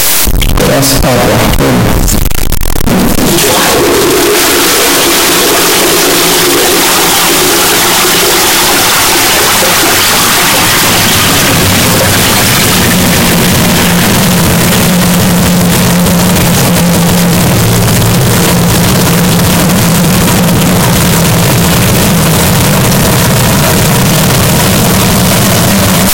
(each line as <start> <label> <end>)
3.3 Flushing toilet 13.3